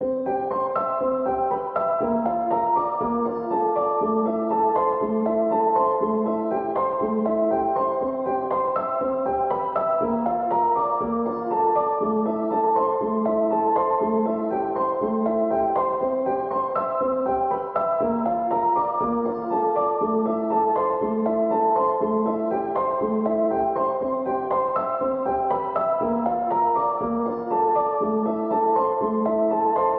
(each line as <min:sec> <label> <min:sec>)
0:00.0 piano 0:29.9